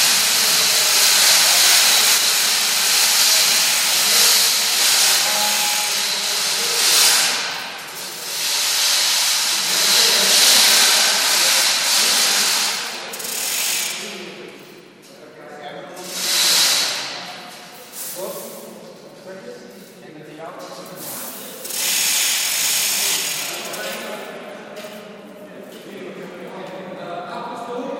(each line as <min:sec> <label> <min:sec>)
0:21.6 pulling down heavy chains 0:24.2